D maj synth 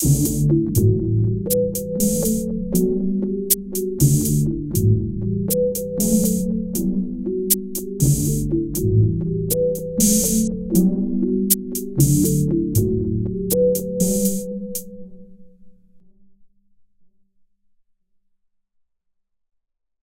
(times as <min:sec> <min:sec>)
0:00.0 0:15.0